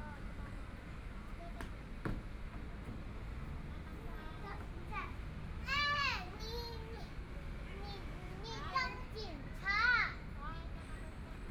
0.0s Children and adults 11.4s

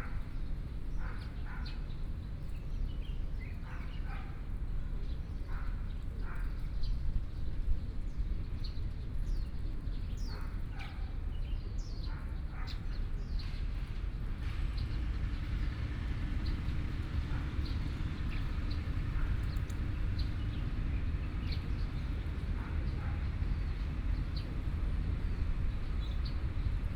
13.4s Road construction noise 26.9s
13.4s Traffic Sound 26.9s

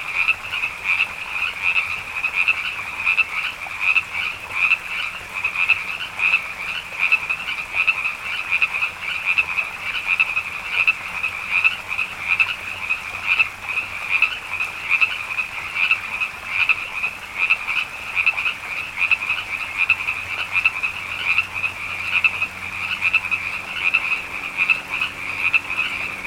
0.0s Frogs 26.2s

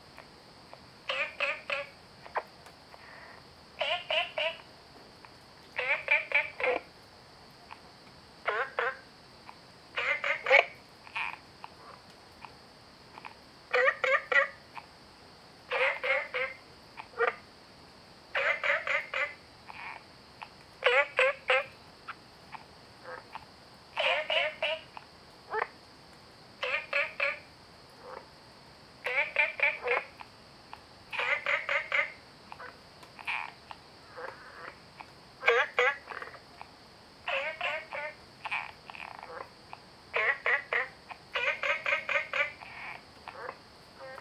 0.0s Frogs chirping 17.6s
18.2s Frogs chirping 44.2s

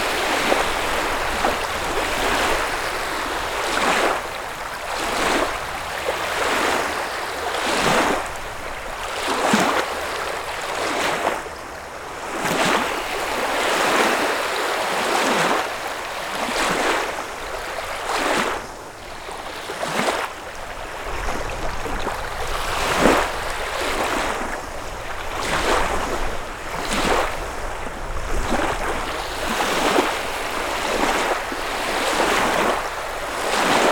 0.0s Waves on a lake 33.9s

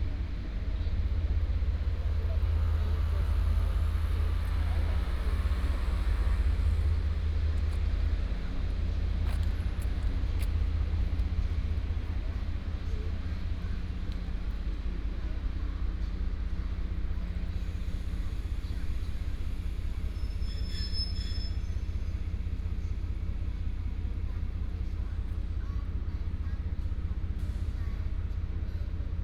0.0s Traffic sound 20.1s
0.0s People walking in the square 29.2s

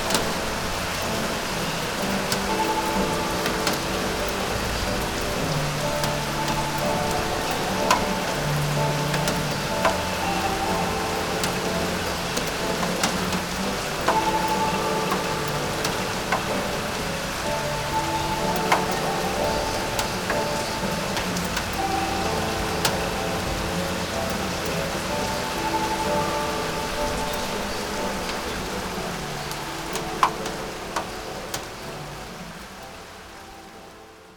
0.0s rain 34.3s

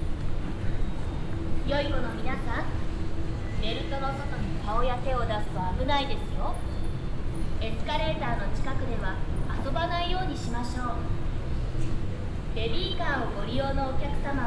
0.0s repeated automatic announcement at the moving staircases 14.4s

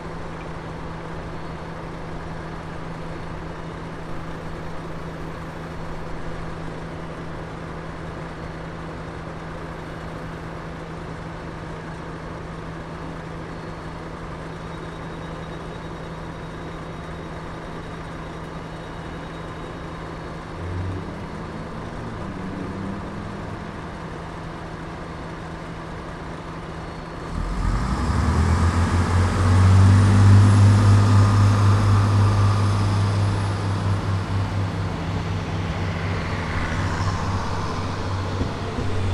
16.6s Train heading south 39.1s

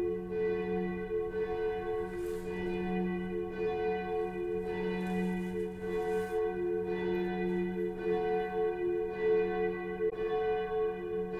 0.0s Bells of the Cathedral 11.3s

